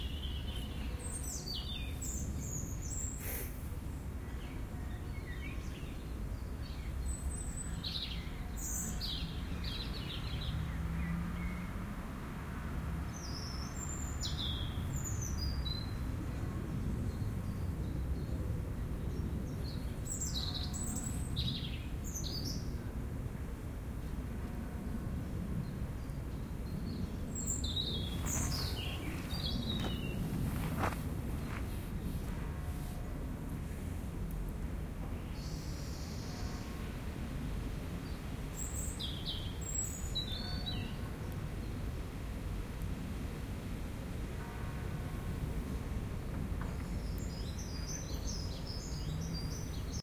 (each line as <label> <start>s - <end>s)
traffic 0.0s - 50.0s
bird 26.8s - 31.6s
churchbells 32.3s - 33.5s
churchbells 40.2s - 41.6s
churchbells 44.2s - 46.2s